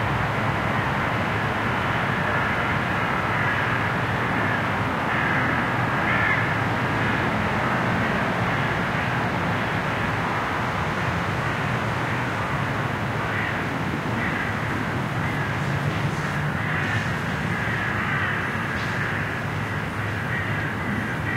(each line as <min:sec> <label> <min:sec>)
0:00.0 cars 0:21.3
0:00.0 motorbikes 0:21.3
0:02.2 crows 0:07.1
0:02.2 ducks 0:06.6
0:13.2 crows 0:21.3
0:13.3 ducks 0:13.6
0:14.2 ducks 0:14.6
0:15.2 ducks 0:21.3